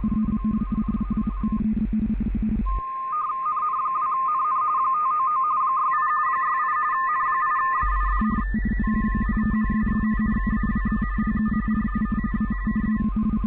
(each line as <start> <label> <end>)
0.0 RTTY 2.8
7.8 RTTY 13.4